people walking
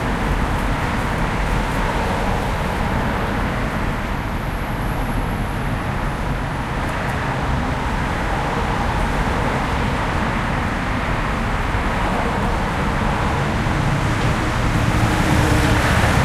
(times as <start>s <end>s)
0.0s 3.6s